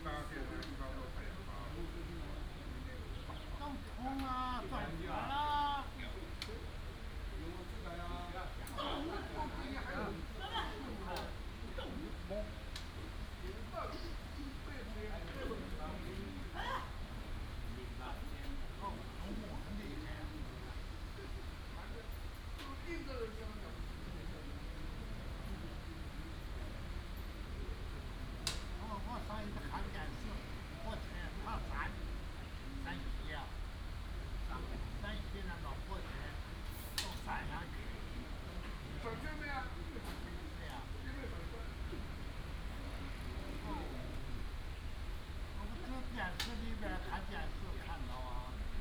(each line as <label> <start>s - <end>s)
Play chess and chat 0.0s - 48.8s